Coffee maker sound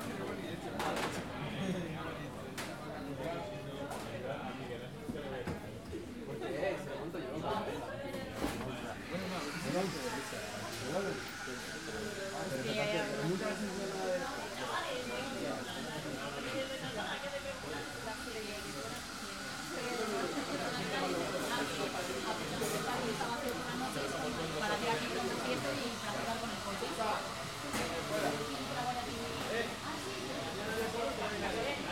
0:07.6 0:31.9

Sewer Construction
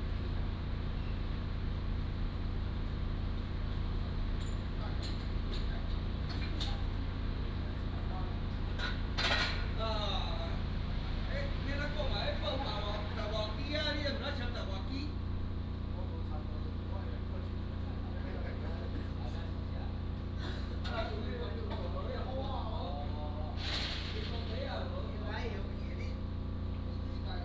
0:20.7 0:25.9

